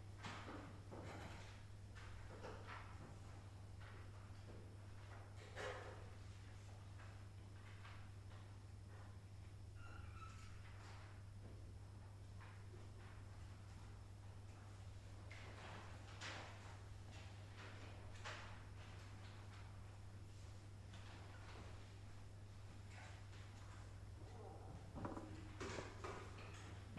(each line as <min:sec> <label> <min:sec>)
0:00.4 students writing an exam 0:26.9